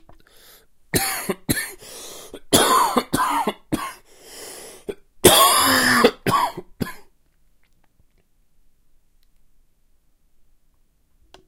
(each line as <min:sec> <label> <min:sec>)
0:00.9 Dry cough 0:01.8
0:02.4 Dry cough 0:04.0
0:04.9 Dry cough 0:07.1